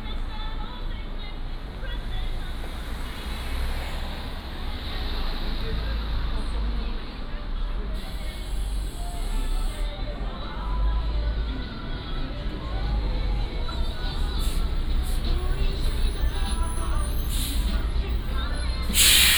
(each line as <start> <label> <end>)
0.0 Traffic Sound 19.3